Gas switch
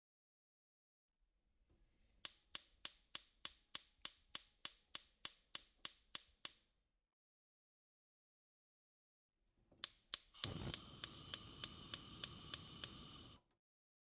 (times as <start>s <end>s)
9.8s 13.4s